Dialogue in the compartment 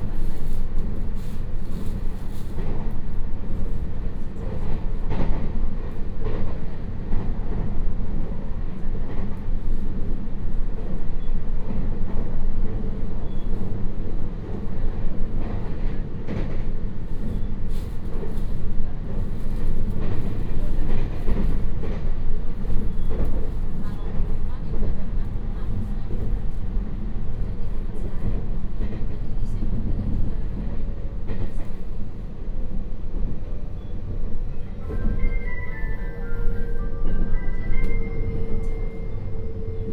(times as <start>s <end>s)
14.0s 35.3s